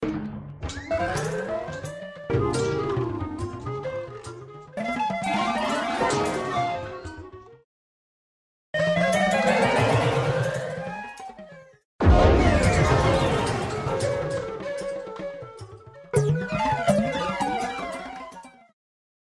trippy circus or carnival sound fx 0:12.0 - 0:15.0

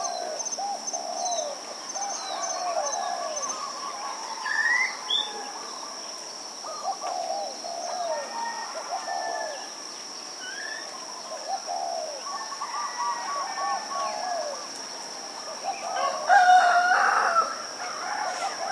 mynah birds 0:00.0 - 0:18.7
shama thrushes 0:00.0 - 0:18.7
wild chickens 0:00.0 - 0:18.7
doves 0:05.0 - 0:09.9
doves 0:10.9 - 0:18.7

